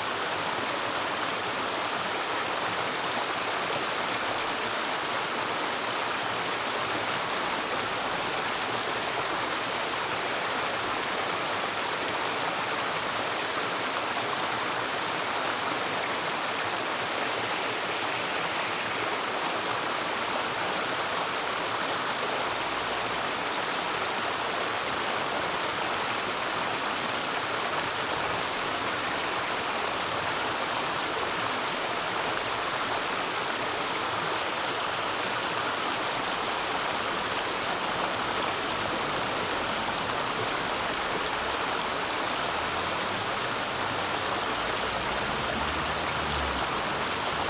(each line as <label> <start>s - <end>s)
River 0.0s - 47.4s